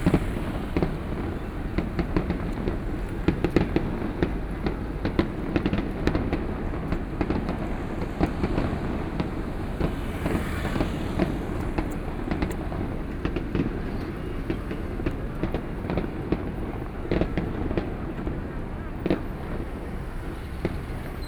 Fireworks sound 0:00.0 - 0:21.2
Traffic Sound 0:00.0 - 0:21.2

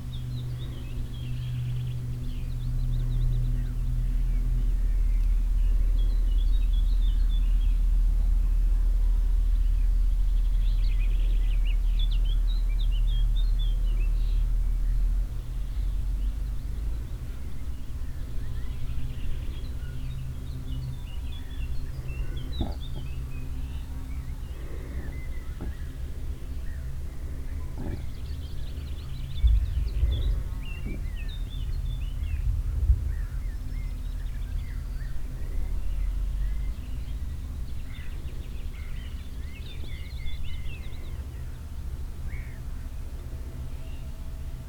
sounds of chewing 0:22.0 - 0:23.5
sounds of chewing 0:24.1 - 0:31.3

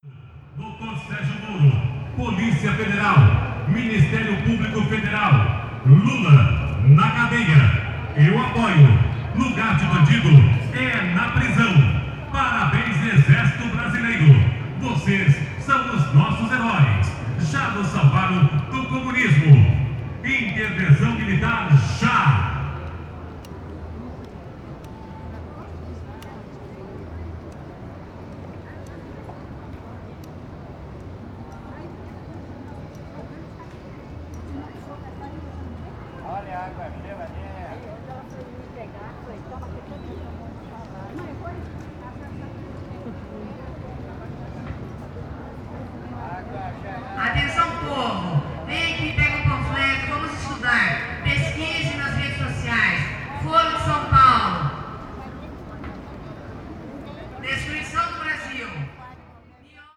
sound car 0:00.0 - 0:38.4
mineral water vendor advertised his product 0:00.5 - 0:22.8

